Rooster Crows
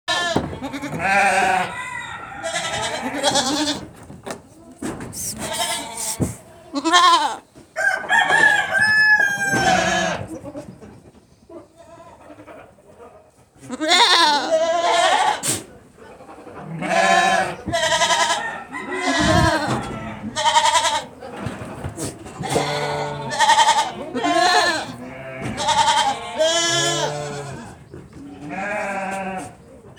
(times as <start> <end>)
1.3 3.3, 7.8 10.2, 18.1 20.3